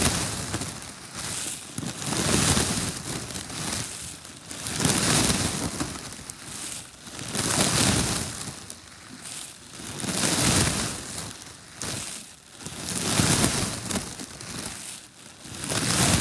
Plastic grocery bags 0.0 - 16.2

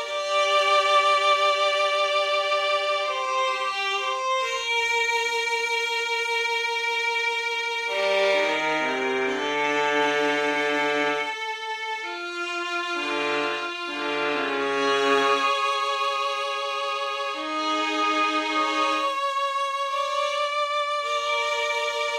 violin 0.0 - 22.1

